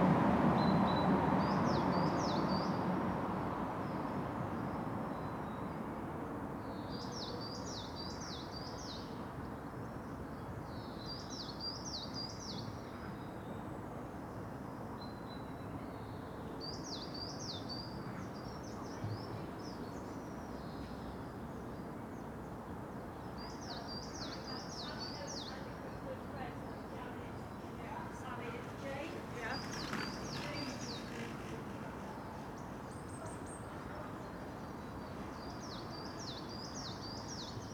Cyclist chat 23.7 - 34.5

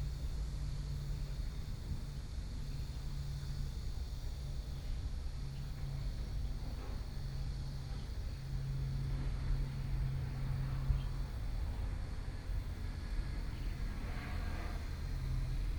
Traffic Noise 0.0 - 15.7
Train traveling through 5.2 - 15.7

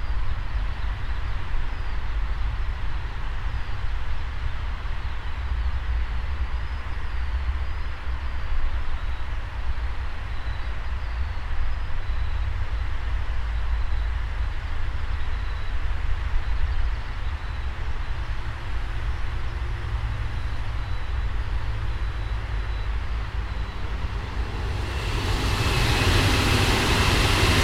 traffic from the highway 0.1 - 27.6
Commuter trains passing by 17.1 - 27.6

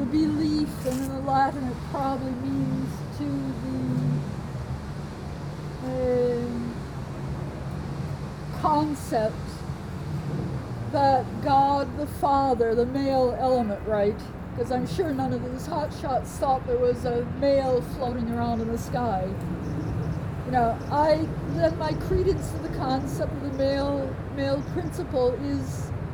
lunatic woman 0.0 - 4.2
lunatic woman 5.8 - 6.8
lunatic woman 8.5 - 9.6
lunatic woman 11.0 - 19.4
lunatic woman 20.5 - 25.9

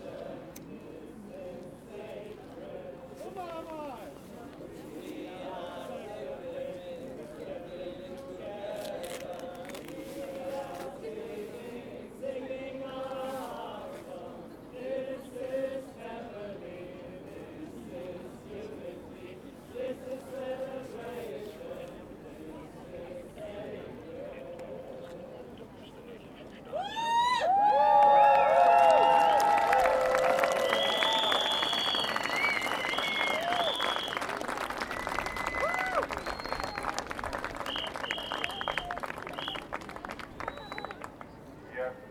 people singing together 0.0 - 3.4
people singing together 4.4 - 25.6

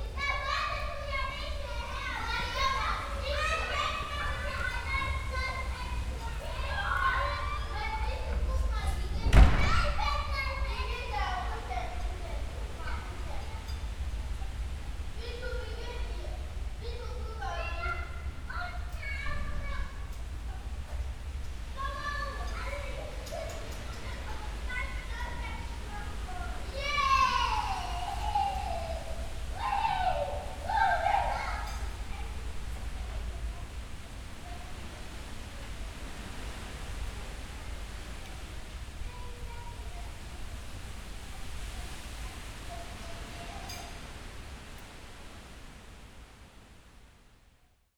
fresh wind 0.0 - 47.5
domestic sounds from open windows 0.0 - 47.9

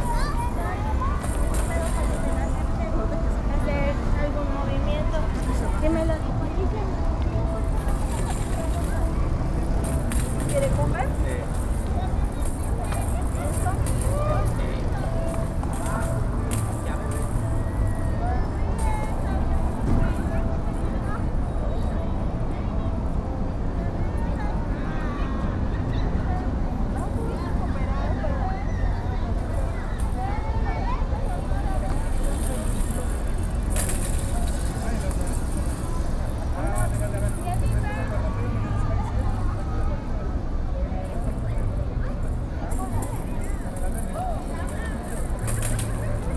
people coming and going 0.0 - 46.3
traffic officer 0.0 - 46.3
toy of a child playing nearby 29.3 - 38.2
toy of a child playing nearby 41.2 - 46.3

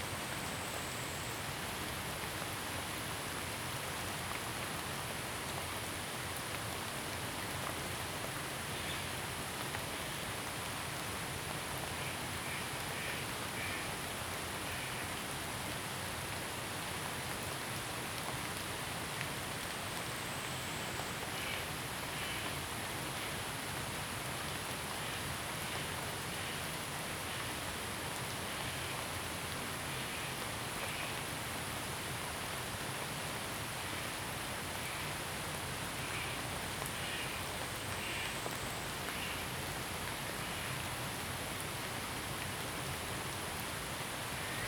Rainy Day 0.0 - 44.6

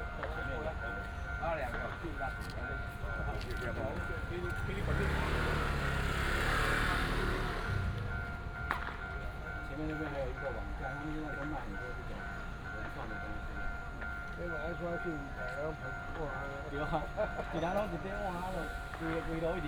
Traffic sound 0.0 - 14.0
The train passes by 0.0 - 19.6
Walking in the small village 0.0 - 19.6

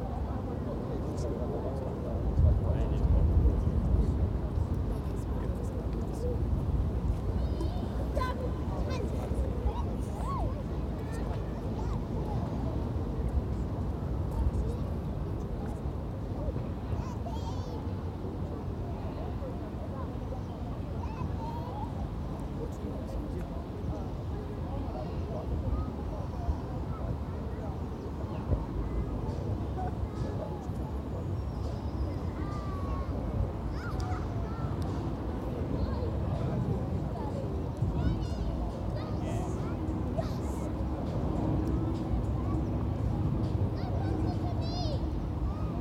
wind 0.0 - 45.8
planes 22.6 - 45.8

